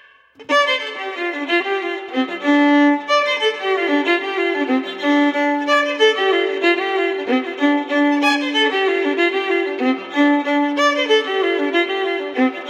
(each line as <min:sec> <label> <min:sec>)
0:00.4 Mournful fiddle 0:12.6